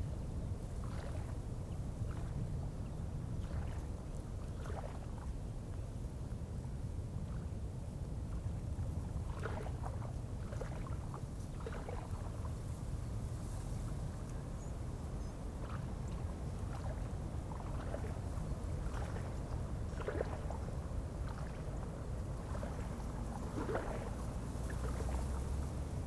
light waves 0:09.3 - 0:26.0
wind in trees 0:11.0 - 0:26.0

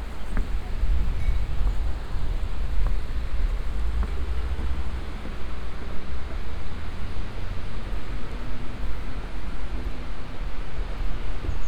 crossing a wooden bridge over the river 0:00.0 - 0:11.6

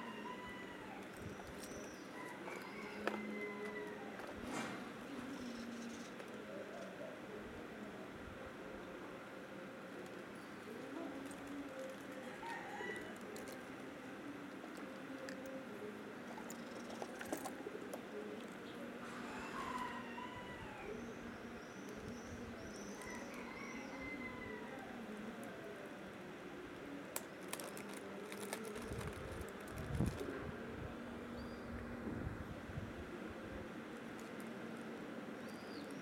chickens 0:00.0 - 0:08.0
Birds 0:00.0 - 0:32.1
chickens 0:08.6 - 0:30.6
Birds 0:33.0 - 0:36.0

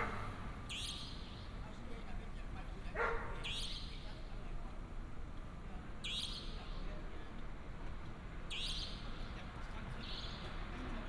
Traffic sound 0:00.0 - 0:00.7
Dog barking 0:03.0 - 0:03.5

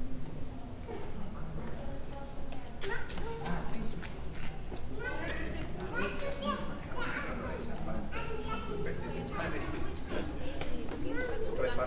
people walking 0:00.0 - 0:06.8
people walking 0:09.7 - 0:11.8

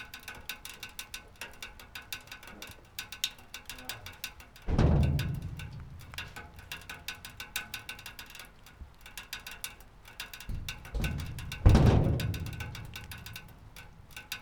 rain drops going down and hitting the bottom of the drainpipe 0:00.0 - 0:14.4
owner of the place rummaging in the garage 0:04.6 - 0:08.1
owner of the place rummaging in the garage 0:10.4 - 0:14.4

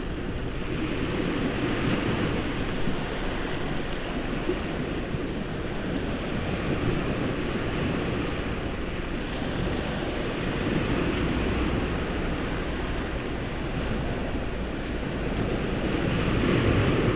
sea waves 0:00.0 - 0:17.1

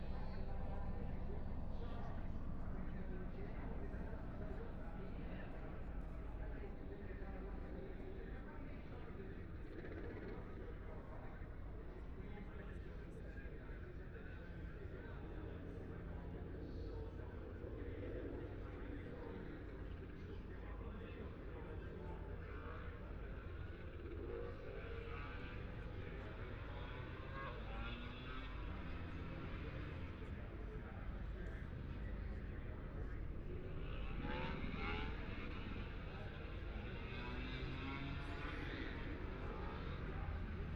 motorcycle 0:00.0 - 0:12.2
motorcycle 0:21.4 - 0:40.7

